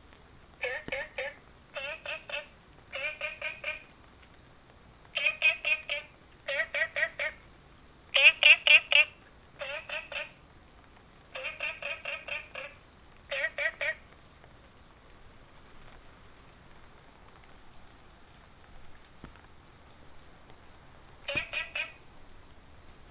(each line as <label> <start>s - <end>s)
Rainy Day 0.0s - 23.1s
Frogs sound 0.4s - 23.1s